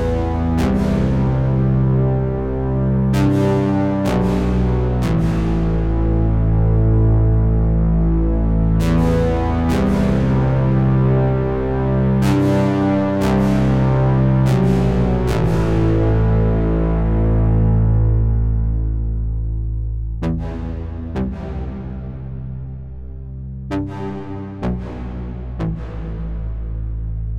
synthesizer with filter and reverb 0:00.0 - 0:27.3

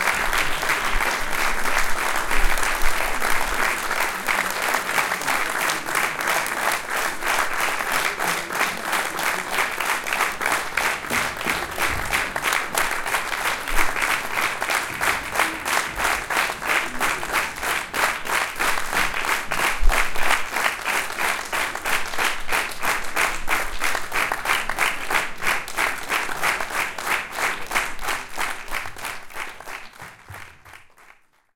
cheering 0:00.0 - 0:22.3
applause 0:00.0 - 0:31.5

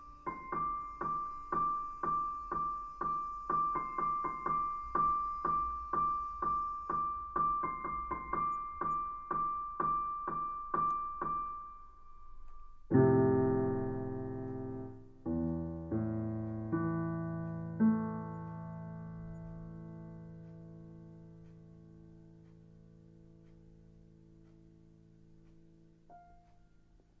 different piano sounds 0:00.0 - 0:24.0
different piano sounds 0:25.5 - 0:27.2

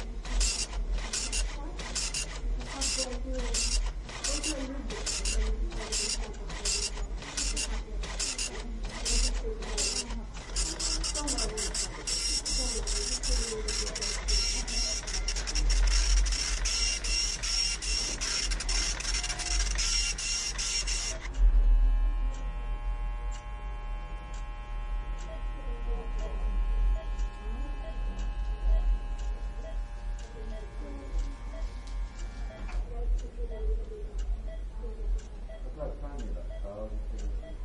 clock tic tac 0:00.0 - 0:21.5
heart check print 0:00.0 - 0:21.5
pager and tone 0:00.0 - 0:32.8
heart check print 0:25.1 - 0:37.6
clock tic tac 0:25.2 - 0:25.4
heart beep 0:25.2 - 0:25.5
heart beep 0:26.2 - 0:29.0
heart beep 0:29.6 - 0:31.8
heart beep 0:32.4 - 0:32.8
heart beep 0:34.4 - 0:34.7
heart beep 0:35.5 - 0:35.7
heart beep 0:37.4 - 0:37.6

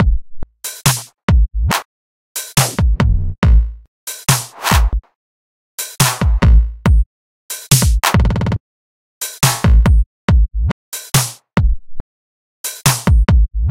drums 0:00.7 - 0:01.8
drums 0:02.4 - 0:05.0
drums 0:05.8 - 0:08.6
drums 0:09.2 - 0:11.8
drums 0:12.6 - 0:13.7

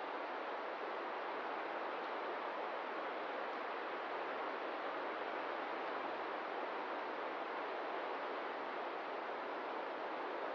wind 0:00.0 - 0:10.5

